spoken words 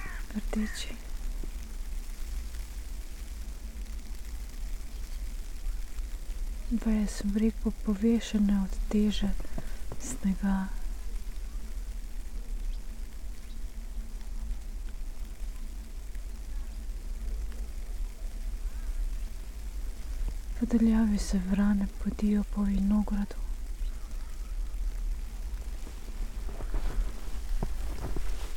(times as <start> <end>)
0.0 1.0, 10.0 10.8